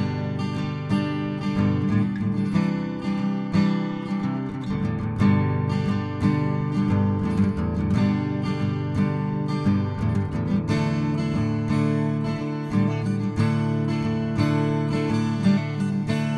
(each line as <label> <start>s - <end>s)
guitar 0.0s - 16.3s